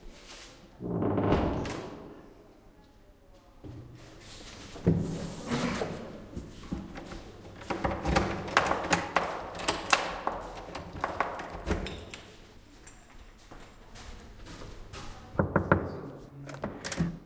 Opening, closing, knocking and locking the door 0:00.8 - 0:02.1
Opening, closing, knocking and locking the door 0:06.8 - 0:12.3
knocking and locking the door 0:07.6 - 0:12.1
Opening, closing, knocking and locking the door 0:15.4 - 0:17.2
knocking and locking the door 0:15.4 - 0:17.2

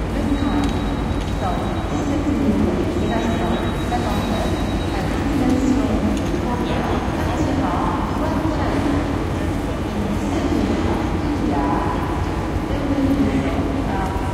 departure/ arrival/ delay annoucements 0:00.0 - 0:14.3

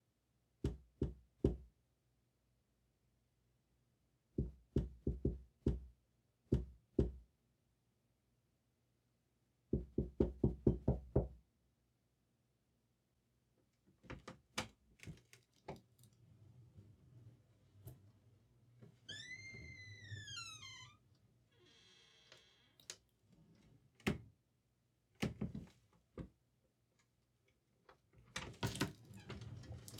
Door Sounds 0:18.8 - 0:22.5

